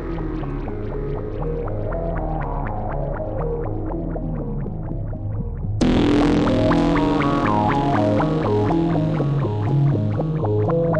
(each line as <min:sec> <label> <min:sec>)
0:05.8 synth 0:10.9